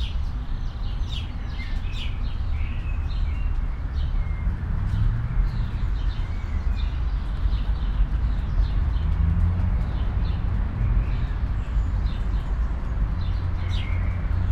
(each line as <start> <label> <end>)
0.0 birds 14.5
0.0 traffic 14.5
0.2 rain drops 14.5